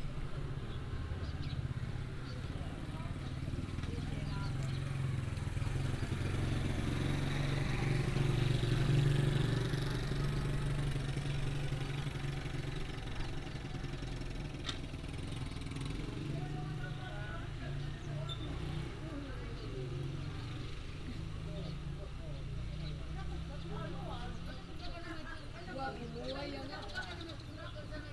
0.0s Residents gather to prepare for a ride 28.1s
0.0s Traffic sound 28.1s
0.0s birds sound 7.2s
17.7s birds sound 28.1s

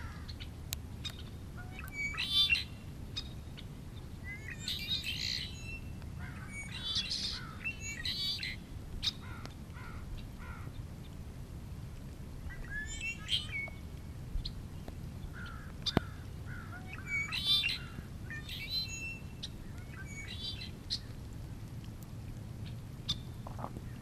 15.3s red winged blackbird mating call 21.1s

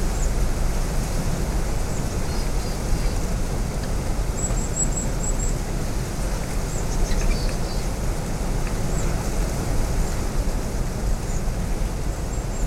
0.0s sea 12.6s

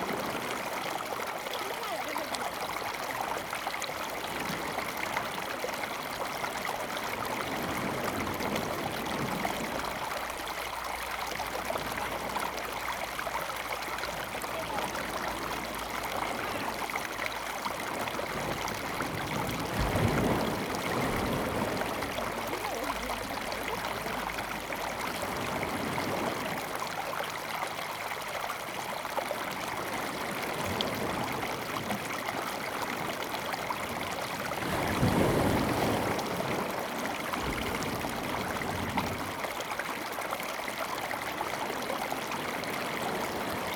0.0s Waves 43.7s

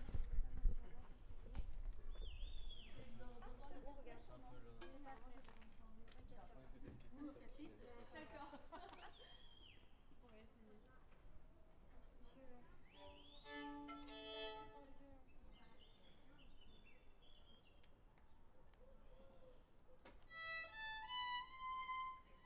2.7s Voices 20.2s
13.2s Violin 15.1s
20.3s Violin 22.4s

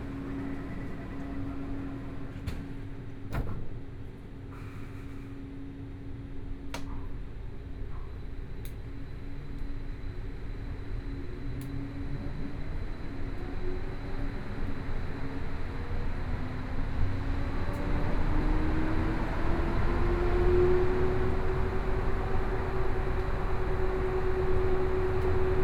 0.0s Compartments in the MRT 3.9s

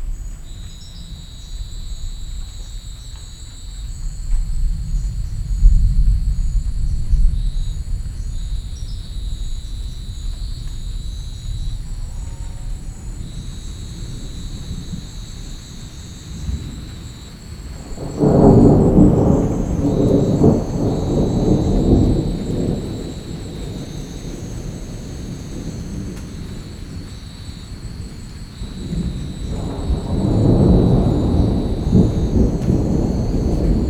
0.0s Thunder 33.8s
0.0s rain 33.8s

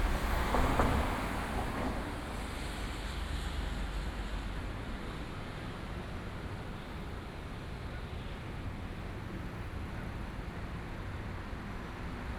0.0s Traffic noise 4.2s

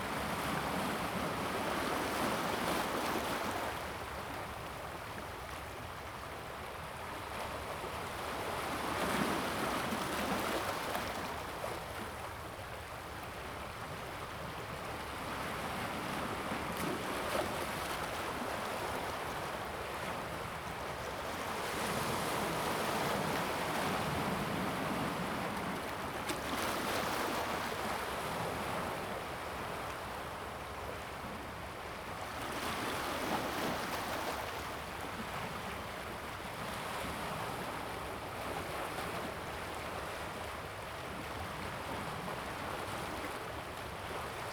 0.0s Stream to the sea 44.5s
0.0s waves 44.5s

